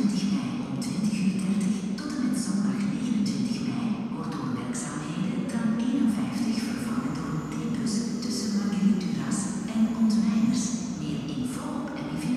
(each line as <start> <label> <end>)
0.0 Tram 51 (old model), 3 & 4 (new models) at the station 12.3
4.0 voice announcements 12.3